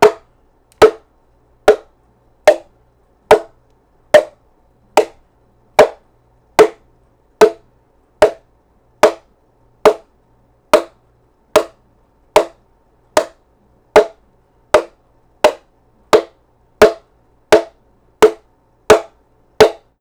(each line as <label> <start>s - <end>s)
small bongo drum hit 0.0s - 1.1s
small bongo drum hit 1.7s - 1.9s
small bongo drum hit 2.5s - 2.7s
small bongo drum hit 3.3s - 3.6s
small bongo drum hit 4.2s - 4.4s
small bongo drum hit 5.0s - 5.2s
small bongo drum hit 5.8s - 6.0s
small bongo drum hit 6.6s - 6.8s
small bongo drum hit 7.4s - 7.6s
small bongo drum hit 8.2s - 8.4s
small bongo drum hit 9.0s - 9.2s
small bongo drum hit 9.8s - 10.1s
small bongo drum hit 10.8s - 11.0s
small bongo drum hit 11.6s - 11.8s
small bongo drum hit 12.4s - 12.6s
small bongo drum hit 13.2s - 13.4s
small bongo drum hit 14.0s - 14.2s
small bongo drum hit 14.8s - 19.9s